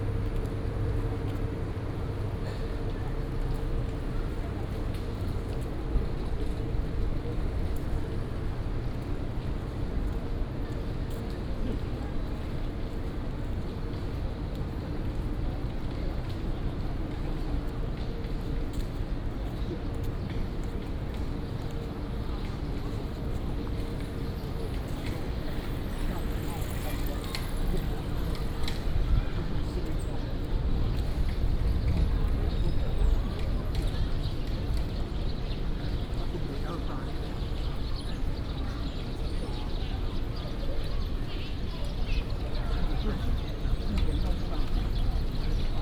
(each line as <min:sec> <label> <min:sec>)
0:00.0 walking in the university 0:45.8
0:20.1 bicycle 0:39.6